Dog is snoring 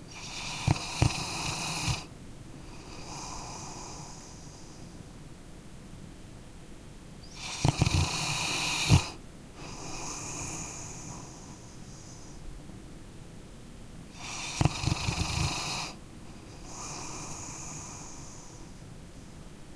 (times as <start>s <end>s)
0.1s 4.7s, 7.3s 11.8s, 14.1s 18.8s